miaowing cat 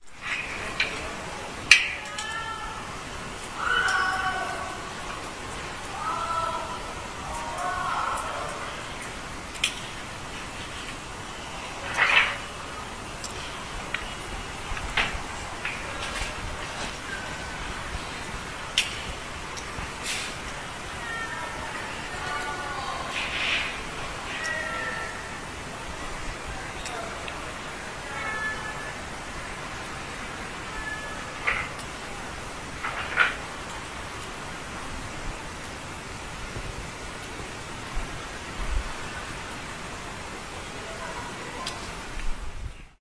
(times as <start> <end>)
30.7 31.7